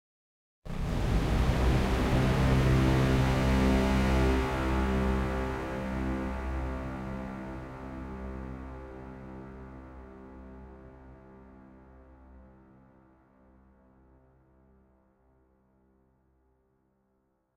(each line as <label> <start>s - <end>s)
Mechanical synth swell FX pad 0.7s - 7.1s